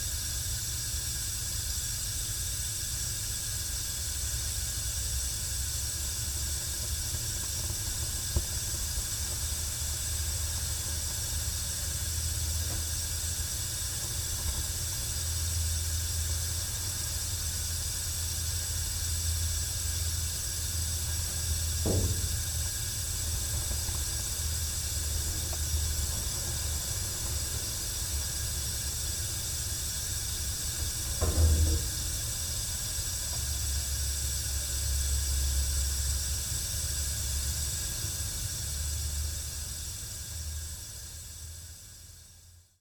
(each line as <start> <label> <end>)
19.9 gas meter box 34.7